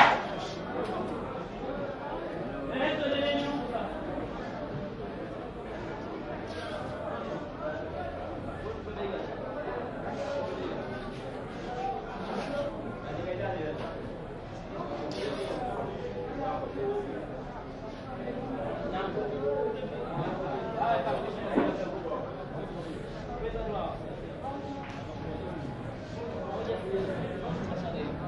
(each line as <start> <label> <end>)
0.0 Auction at the fish market 28.2